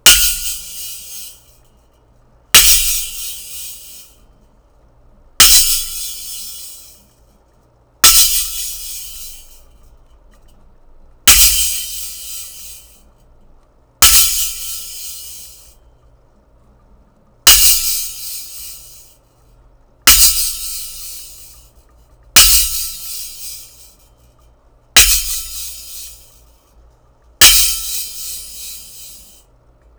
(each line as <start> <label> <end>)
0.0 Cymbal crashes 1.5
2.6 Cymbal crashes 4.1
5.4 Cymbal crashes 7.0
8.0 Cymbal crashes 9.6
11.3 Cymbal crashes 12.9
14.0 Cymbal crashes 15.7
17.5 Cymbal crashes 19.0
20.1 Cymbal crashes 21.5
22.4 Cymbal crashes 23.9
25.0 Cymbal crashes 26.4
27.4 Cymbal crashes 29.4